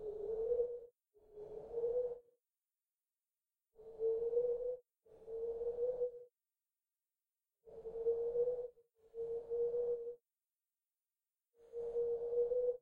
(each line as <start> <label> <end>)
0.0 Dove like Bird Cooing 2.3
3.8 Dove like Bird Cooing 6.3
11.6 Dove like Bird Cooing 12.8